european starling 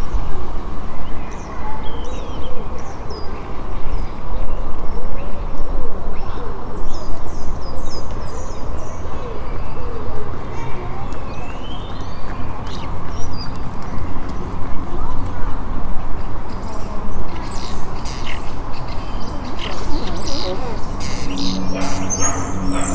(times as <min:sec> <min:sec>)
0:16.4 0:22.9